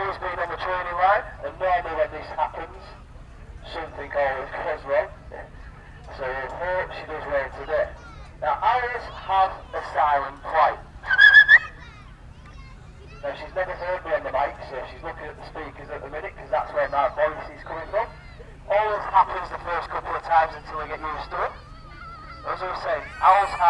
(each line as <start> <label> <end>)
0.0 falconer with radio mic through the PA system 23.6
11.1 American barn owl 11.9